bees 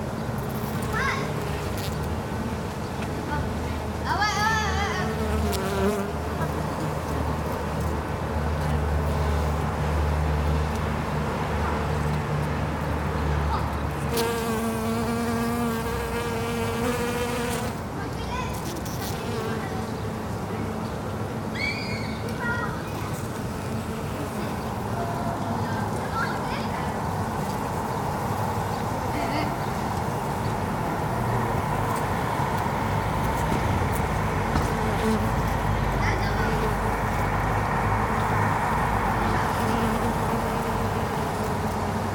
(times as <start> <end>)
5.1 7.1, 14.1 17.8, 34.4 35.6, 38.0 42.1